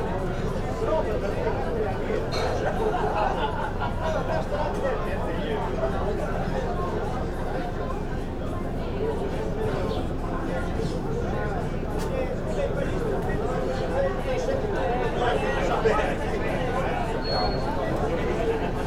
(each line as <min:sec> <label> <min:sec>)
0:00.0 murmur of people at the cafe and restaurant 0:18.8